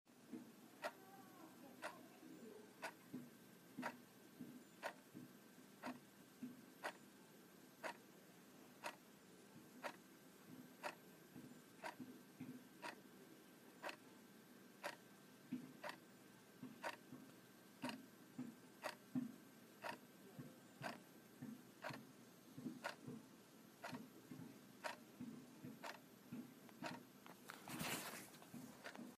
analogue wall-clock's second hand ticking 0:02.8 - 0:03.2
analogue wall-clock's second hand ticking 0:03.8 - 0:04.0
analogue wall-clock's second hand ticking 0:04.7 - 0:05.1
analogue wall-clock's second hand ticking 0:05.8 - 0:07.0
analogue wall-clock's second hand ticking 0:07.8 - 0:08.0
analogue wall-clock's second hand ticking 0:08.8 - 0:09.0
analogue wall-clock's second hand ticking 0:09.8 - 0:10.0
analogue wall-clock's second hand ticking 0:10.8 - 0:11.0
analogue wall-clock's second hand ticking 0:11.8 - 0:12.1
analogue wall-clock's second hand ticking 0:12.8 - 0:13.0
analogue wall-clock's second hand ticking 0:13.8 - 0:14.0
analogue wall-clock's second hand ticking 0:14.8 - 0:16.0
analogue wall-clock's second hand ticking 0:16.6 - 0:20.0
analogue wall-clock's second hand ticking 0:20.8 - 0:23.2
analogue wall-clock's second hand ticking 0:23.8 - 0:25.0
analogue wall-clock's second hand ticking 0:25.6 - 0:26.0
analogue wall-clock's second hand ticking 0:26.7 - 0:27.1
analogue wall-clock's second hand ticking 0:28.8 - 0:29.1

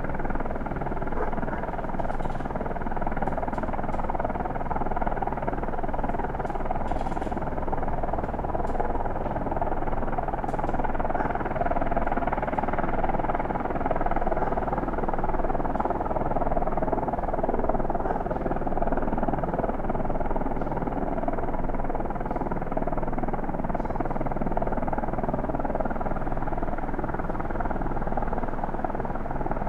helicopter hovering (distant) 0:00.0 - 0:29.6
dogs barking 0:01.1 - 0:01.7
dogs barking 0:11.1 - 0:11.4
dogs barking 0:14.4 - 0:14.6
dogs barking 0:18.0 - 0:18.3

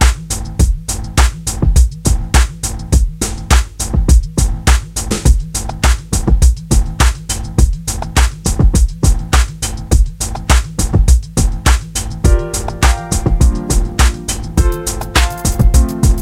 bass 0:00.0 - 0:16.2
synth 0:12.3 - 0:16.2

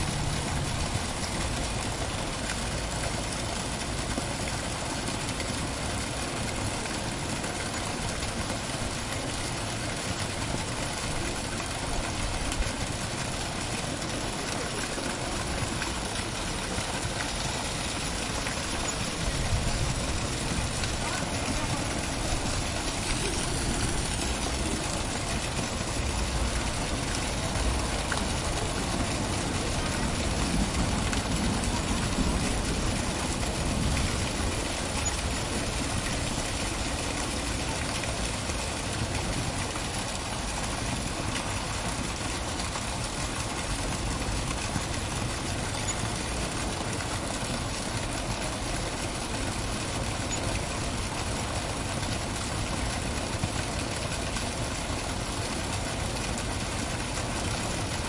fountain 0:00.0 - 0:58.0

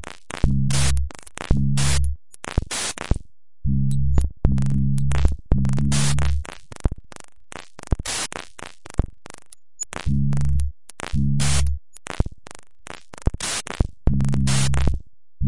random rhythms 0:00.4 - 0:03.2
random rhythms 0:04.0 - 0:07.0
clicks 0:04.1 - 0:15.0
random rhythms 0:07.6 - 0:12.3
random rhythms 0:13.1 - 0:15.0

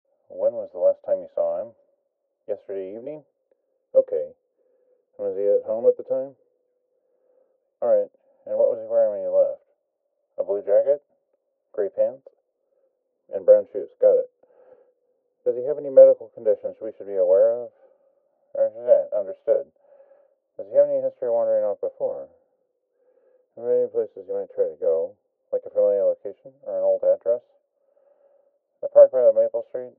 Male voice on the other end of a phone call 0:00.3 - 0:01.7
Male voice on the other end of a phone call 0:02.5 - 0:03.2
Male voice on the other end of a phone call 0:04.0 - 0:04.3
Male voice on the other end of a phone call 0:05.2 - 0:06.4
Male voice on the other end of a phone call 0:07.8 - 0:09.6
Male voice on the other end of a phone call 0:10.4 - 0:11.0
Male voice on the other end of a phone call 0:11.8 - 0:12.3
Male voice on the other end of a phone call 0:13.3 - 0:14.3
Male voice on the other end of a phone call 0:15.5 - 0:17.8
Male voice on the other end of a phone call 0:18.5 - 0:19.7
Male voice on the other end of a phone call 0:20.6 - 0:22.3
Male voice on the other end of a phone call 0:23.6 - 0:27.6
Male voice on the other end of a phone call 0:28.8 - 0:29.9

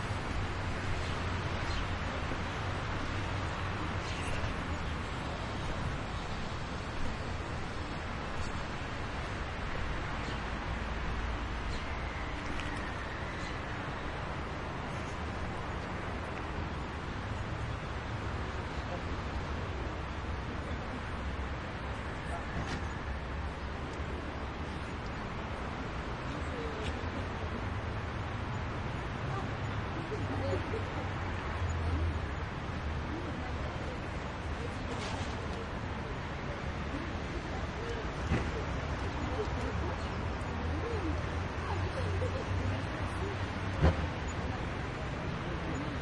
busy traffic 0:00.0 - 0:46.0

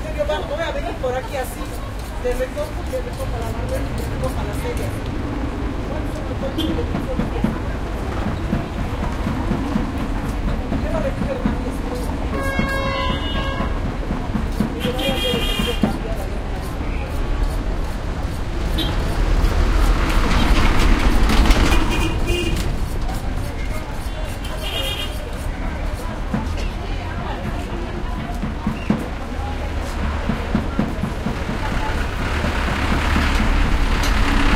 people activity 0:00.0 - 0:34.5
traffic 0:00.0 - 0:34.5

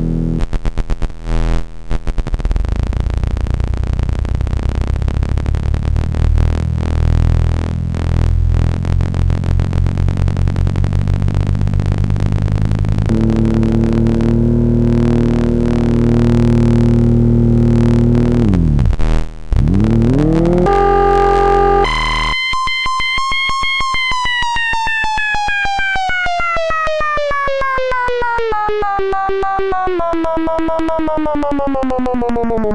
Ring Modulator 0:13.1 - 0:18.9
Ring Modulator 0:19.5 - 0:24.6

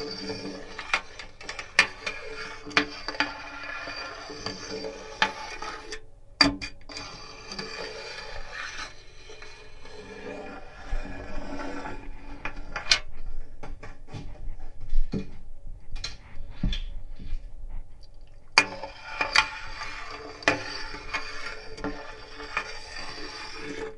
scraping the edge of a tape measure on my bathtub 0:00.0 - 0:06.0
scraping the edge of a tape measure on my bathtub 0:06.9 - 0:14.2
scraping the edge of a tape measure on my bathtub 0:18.6 - 0:23.9

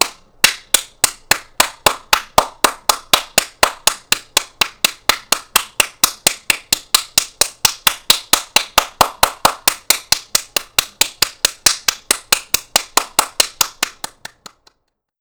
single person applauding or clapping 0:00.0 - 0:14.8

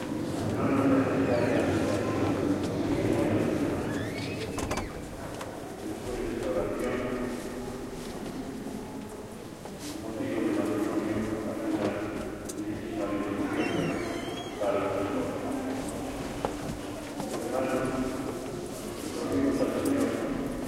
murmur of praying 0:00.0 - 0:20.6
reverberant steps 0:00.0 - 0:20.6
squeaky door that tourists open /close again and again 0:03.8 - 0:05.2
squeaky door that tourists open /close again and again 0:13.4 - 0:14.8

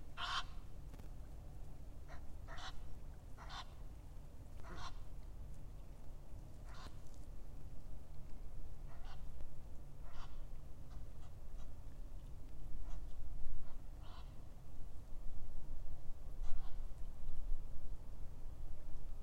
ducks 0:00.2 - 0:00.6
ducks 0:02.1 - 0:02.8
ducks 0:03.4 - 0:03.8
ducks 0:04.6 - 0:05.0
ducks 0:06.6 - 0:07.0
ducks 0:08.9 - 0:09.3
ducks 0:10.0 - 0:11.8
ducks 0:12.8 - 0:14.4
ducks 0:16.4 - 0:16.8

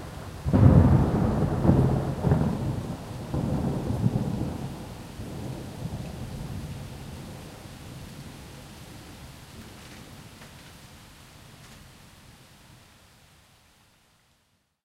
thunder rumble 0:00.0 - 0:08.1
Rain on street, plants, exterior home 0:00.0 - 0:14.8

